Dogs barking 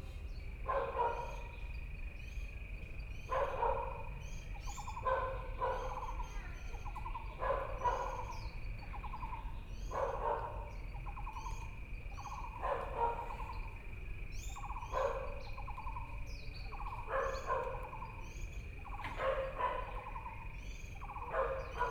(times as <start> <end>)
0.6 1.5, 3.3 4.1, 4.9 6.2, 7.4 8.4, 9.9 11.6, 12.2 13.6, 14.6 15.9, 16.7 18.2, 18.8 21.9